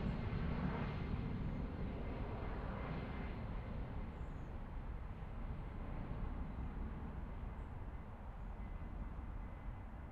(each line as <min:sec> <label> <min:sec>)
0:00.0 Jet Airliner flys overhead 0:10.1